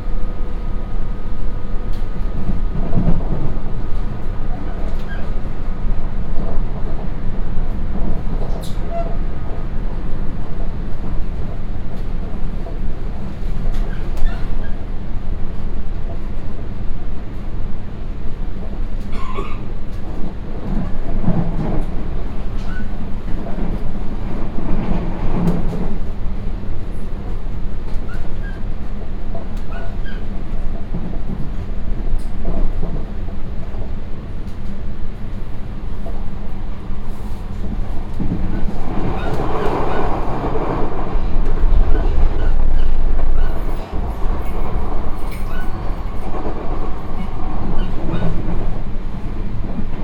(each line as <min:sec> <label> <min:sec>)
0:00.0 metro ride 0:50.0